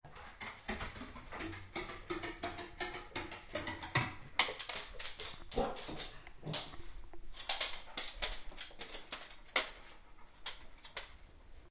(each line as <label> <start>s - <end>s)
Dog is walking up the stairs 0.1s - 11.3s